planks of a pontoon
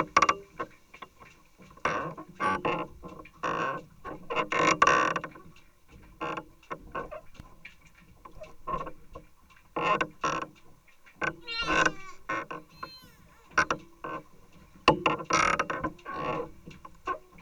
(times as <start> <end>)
11.4 13.6